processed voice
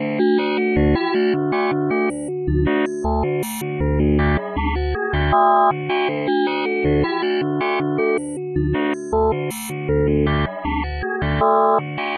9.1s 12.1s

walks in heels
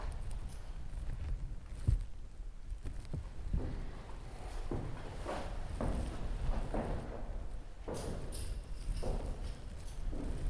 2.8s 10.4s

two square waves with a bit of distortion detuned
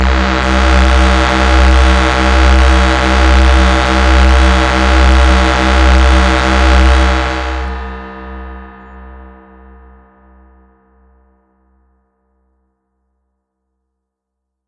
0.0s 9.0s

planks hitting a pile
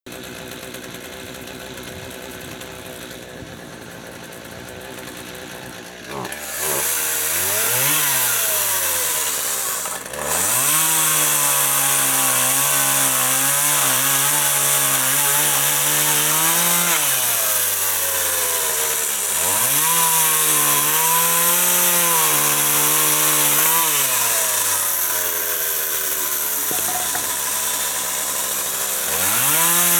26.3s 27.7s

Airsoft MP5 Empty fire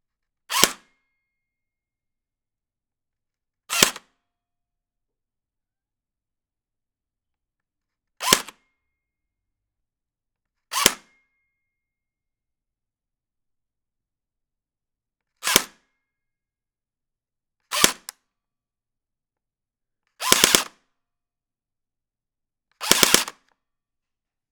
20.2s 20.7s, 22.8s 23.4s

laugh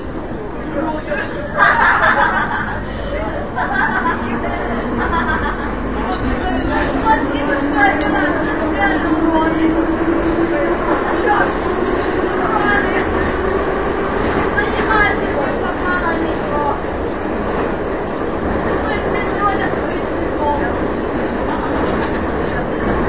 1.2s 6.3s

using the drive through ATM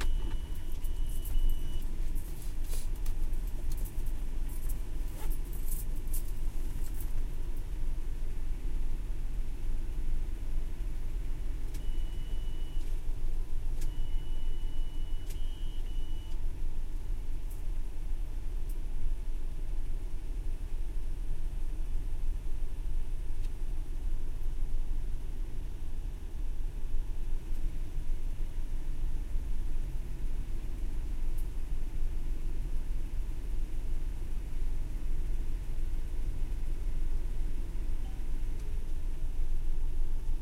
0.0s 7.4s, 11.2s 16.7s

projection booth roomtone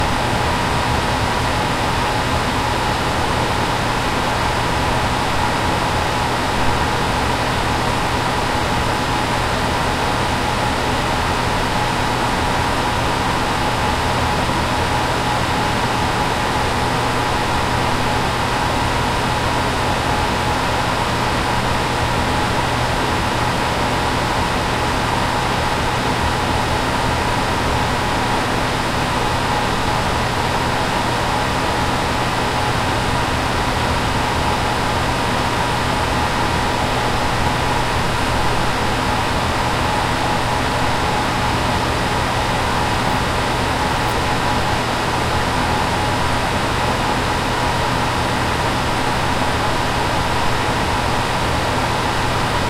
24.2s 52.5s

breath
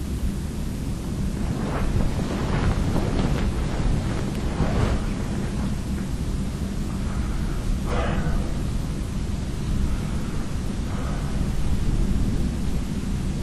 6.8s 8.9s, 9.6s 12.3s

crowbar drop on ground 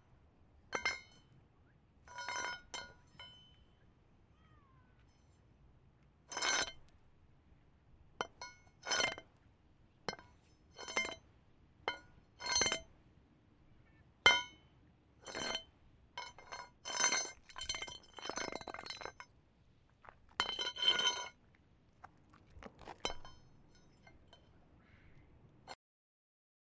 0.8s 1.2s, 15.3s 15.6s, 16.2s 19.2s, 20.3s 21.4s

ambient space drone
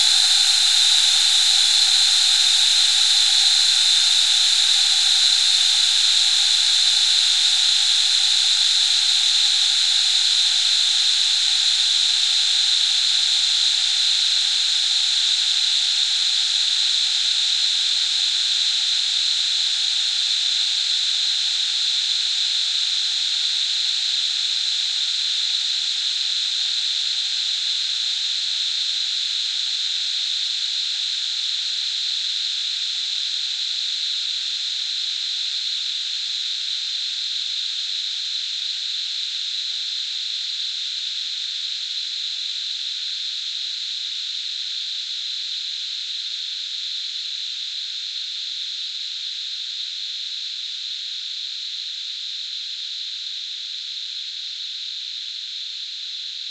0.0s 7.2s

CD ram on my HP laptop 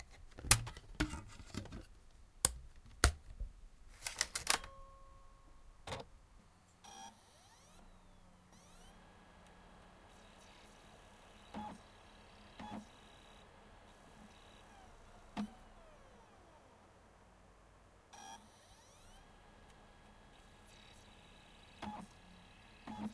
6.7s 23.1s

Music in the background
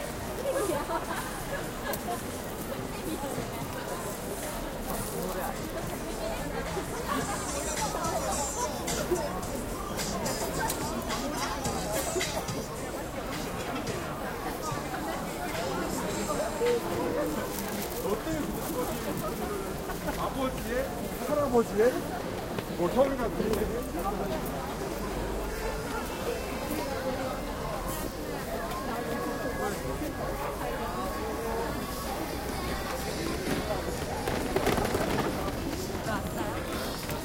5.9s 18.2s

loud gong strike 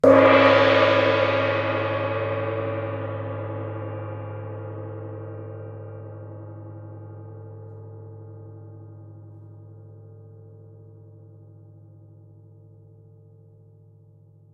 0.0s 6.6s

